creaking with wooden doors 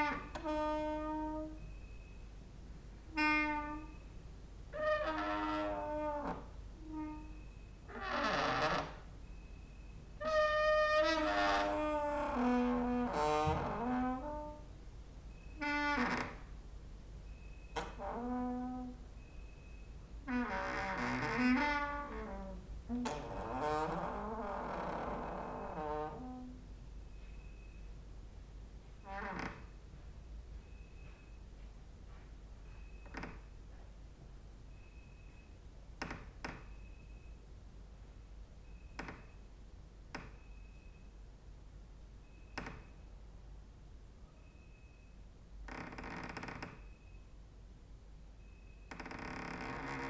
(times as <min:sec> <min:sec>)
0:00.0 0:02.1, 0:03.0 0:16.6, 0:17.3 0:27.9, 0:29.0 0:30.0, 0:32.1 0:33.9, 0:34.7 0:37.4, 0:38.6 0:39.5, 0:40.1 0:41.1, 0:42.2 0:43.0, 0:44.4 0:47.2, 0:48.4 0:50.0